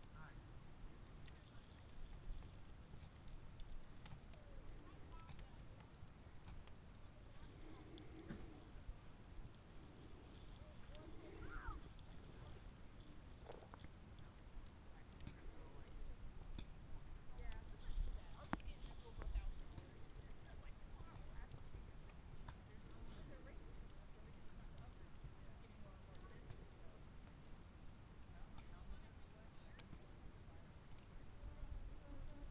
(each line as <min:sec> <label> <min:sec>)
0:00.0 Fire near the campground 0:32.5